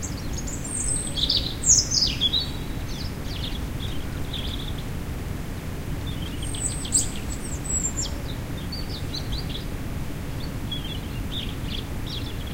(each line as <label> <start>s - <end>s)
Bird song ( erithacus rubecula ) 0.0s - 5.0s
Bird song ( erithacus rubecula ) 6.0s - 12.5s